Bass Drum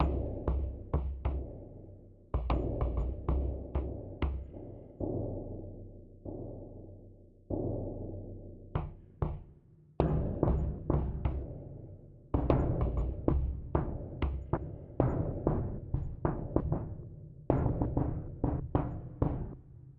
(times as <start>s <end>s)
0.0s 1.8s, 2.4s 5.8s, 8.8s 11.7s, 12.4s 19.6s